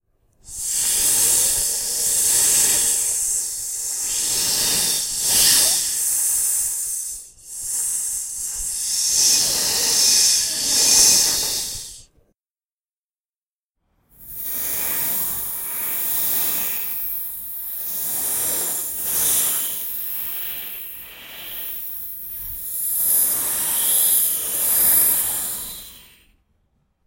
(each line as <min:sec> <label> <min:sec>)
0:00.4 hissing 0:12.0
0:14.2 hissing 0:26.3